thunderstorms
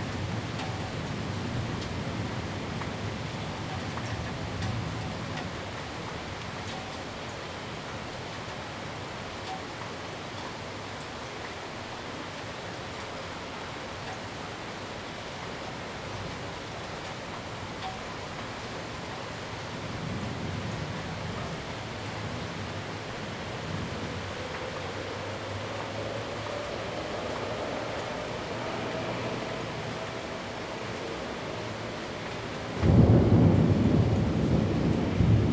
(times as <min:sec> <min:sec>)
0:30.9 0:35.5